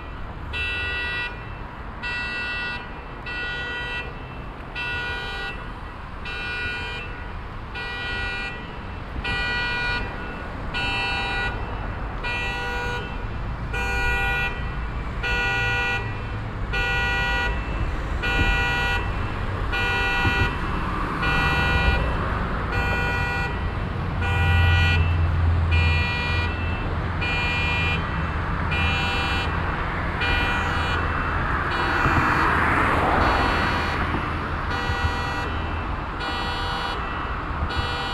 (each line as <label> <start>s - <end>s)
traffic passing by 0.0s - 38.1s
car alarm 0.5s - 29.6s
car alarm 30.2s - 38.1s